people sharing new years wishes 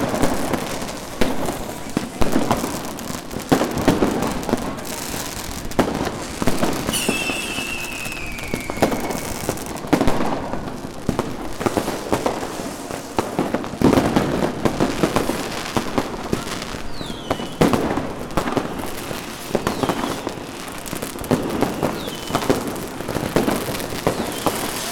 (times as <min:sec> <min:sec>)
0:00.0 0:11.2